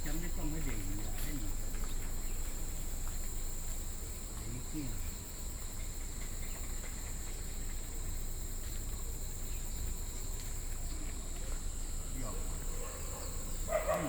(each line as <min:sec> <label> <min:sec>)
0:12.3 Dogs barking 0:14.0